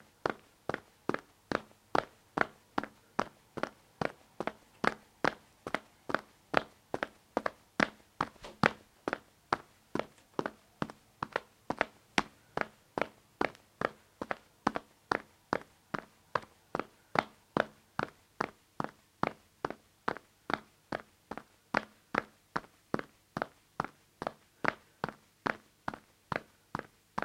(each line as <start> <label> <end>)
2.4 Hard-soled sneakers on a tile floor with a fast pace 16.5